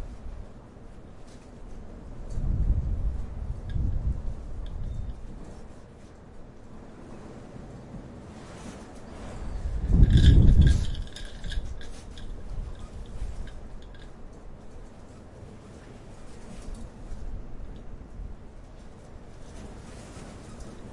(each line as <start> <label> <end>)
0.0 european windstorm 20.9